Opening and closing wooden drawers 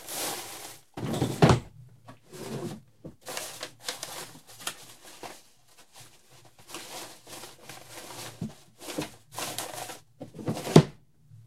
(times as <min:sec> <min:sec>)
0:01.0 0:02.8, 0:10.2 0:11.0